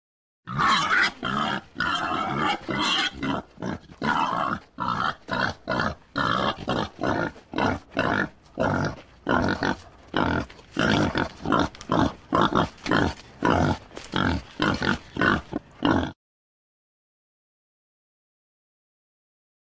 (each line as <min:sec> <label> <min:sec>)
0:00.5 Wild Boar / Grunting / Squealing 0:16.2